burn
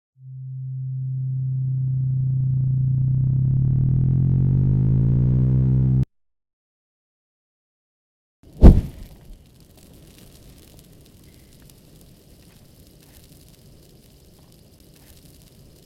8.4s 15.8s

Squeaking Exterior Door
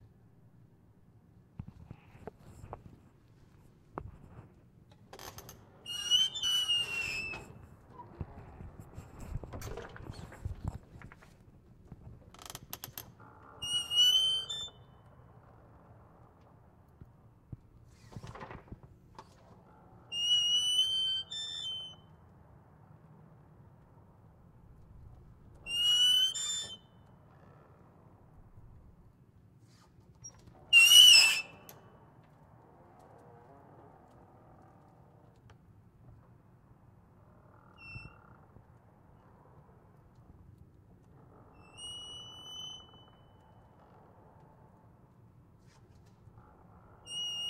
4.3s 11.5s, 12.1s 15.1s, 17.9s 22.2s, 25.5s 27.8s, 29.7s 31.9s, 37.5s 38.8s, 41.3s 44.0s, 46.9s 47.4s

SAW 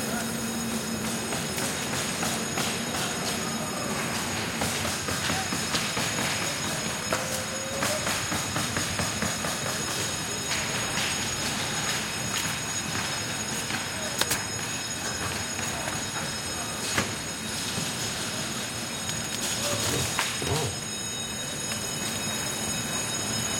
13.5s 23.5s

